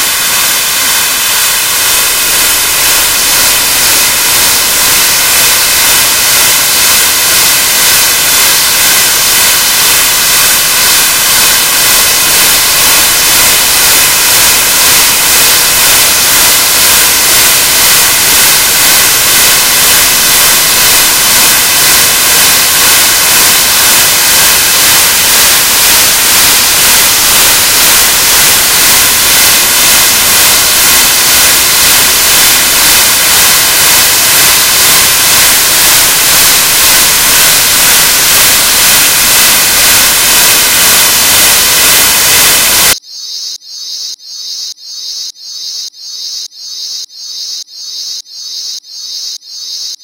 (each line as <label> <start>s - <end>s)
Modular Noise Bits 0.0s - 43.0s